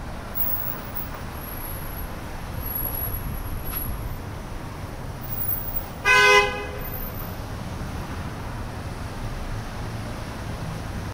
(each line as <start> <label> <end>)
0.0 traffic 11.1
5.7 Car honk 7.1